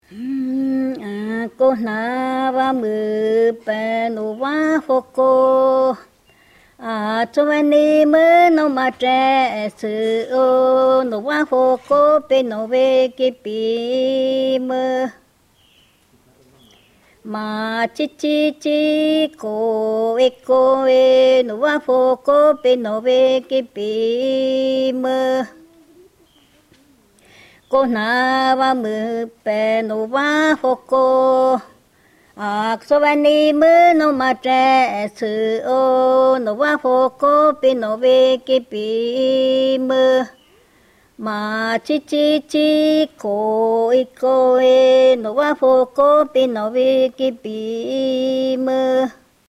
song is sung in a duo 0:00.0 - 0:06.1
song is sung in a duo 0:06.8 - 0:15.2
song is sung in a duo 0:17.3 - 0:25.6
song is sung in a duo 0:27.7 - 0:40.4
song is sung in a duo 0:41.2 - 0:49.2

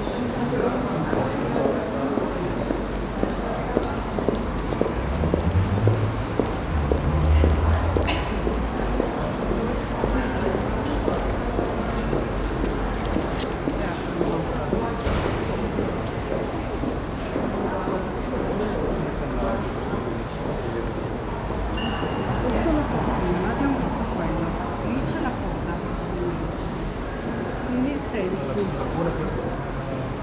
international visitors walking by 0:00.0 - 0:30.2
steps 0:03.2 - 0:09.6

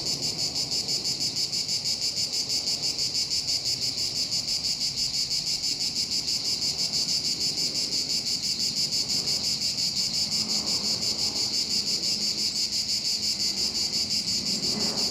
cicada mating calls come in loud waves 0:00.0 - 0:15.1
an airplane descends 0:13.6 - 0:15.1

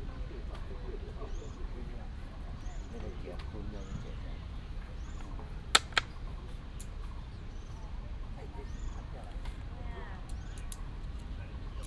birds sound 0:00.0 - 0:11.8
old people are playing chess 0:04.8 - 0:06.6

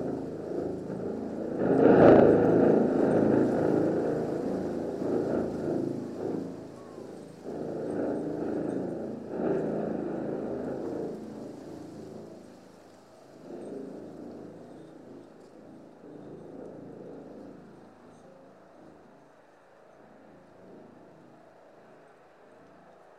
wind in a tube 0:00.0 - 0:23.1

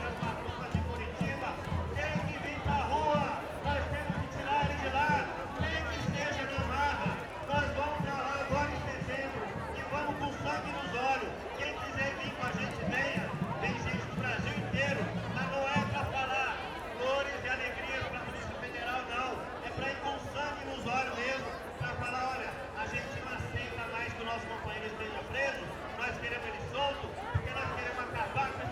drums 0:00.0 - 0:11.0
Voices of the crowd 0:00.0 - 0:28.7
somebody talking on microphone 0:00.0 - 0:28.7
drums 0:11.8 - 0:16.2
drums 0:25.2 - 0:28.7

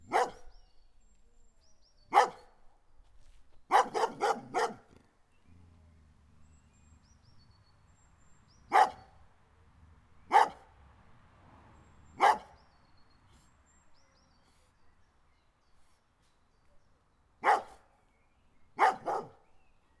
barking dog 0:00.0 - 0:00.5
barking dog 0:02.1 - 0:02.5
barking dog 0:03.7 - 0:07.2
barking dog 0:08.7 - 0:09.1
barking dog 0:10.3 - 0:10.7
barking dog 0:12.1 - 0:12.6
barking dog 0:17.4 - 0:17.8
barking dog 0:18.8 - 0:19.4

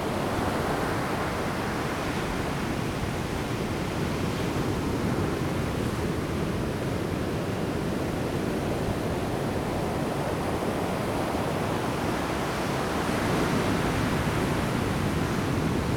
wind 0:00.0 - 0:15.9
waves 0:06.8 - 0:15.9

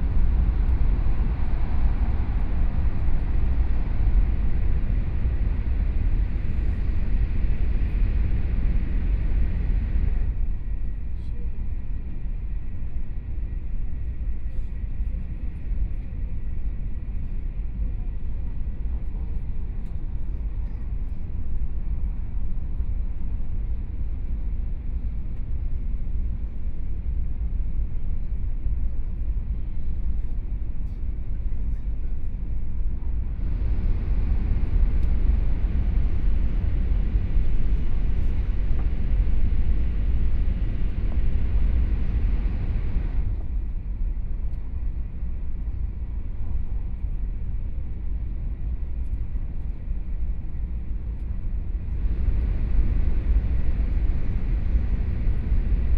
High Speed Rail 0:00.0 - 0:55.9

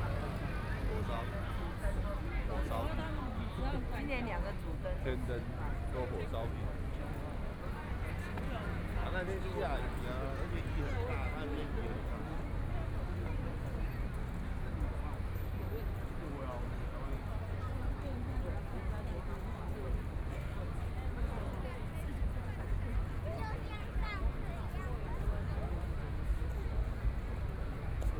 Many tourists 0:00.0 - 0:28.1

